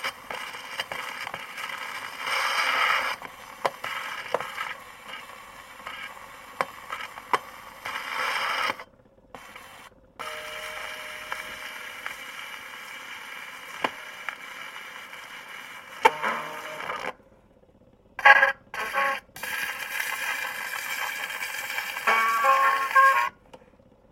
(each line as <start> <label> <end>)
0.0 pops 8.8
0.0 surface static 8.8
0.0 various scratches on a 78 record 8.8
9.4 various scratches on a 78 record 17.1
10.2 surface static 17.1
18.2 pops 23.3
18.2 various scratches on a 78 record 23.4
18.2 surface static 23.4